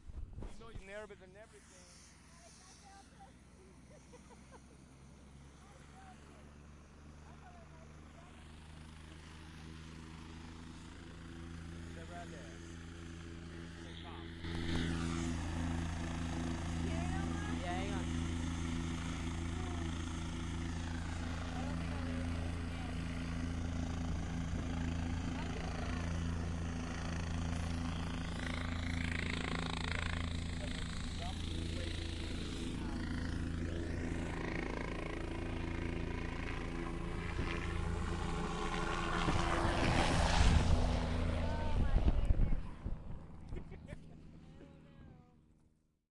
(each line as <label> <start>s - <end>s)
wind that follows after the helicopter 0.0s - 7.2s
helicopter, taking off 0.0s - 45.9s
wind that follows after the helicopter 7.9s - 45.6s